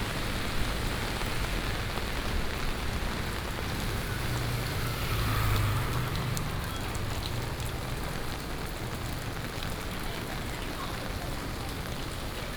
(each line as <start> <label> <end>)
0.0 Walking in the rain 12.5
0.0 Traffic Sound 12.5
1.7 Thunderstorm 8.4